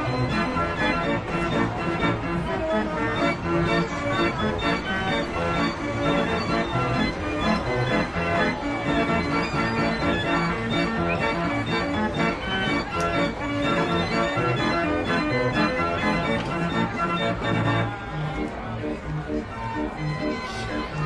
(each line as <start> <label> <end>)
0.0 carousel 21.0
0.0 music 21.0